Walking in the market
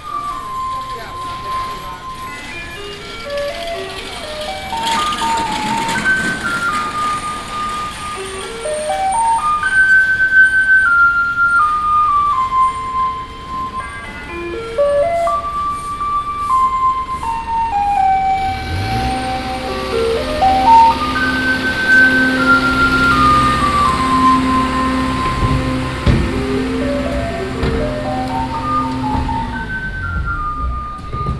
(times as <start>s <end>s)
0.0s 9.3s, 16.6s 31.3s